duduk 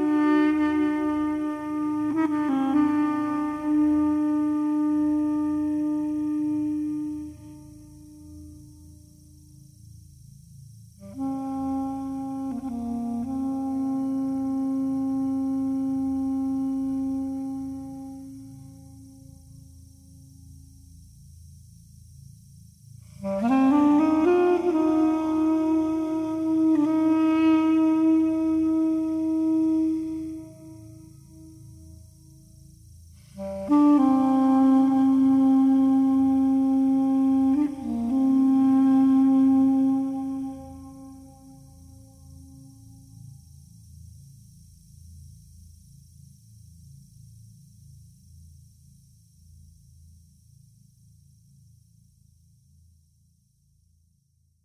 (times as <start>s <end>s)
0.0s 9.3s, 11.0s 20.2s, 23.1s 32.0s, 33.2s 43.3s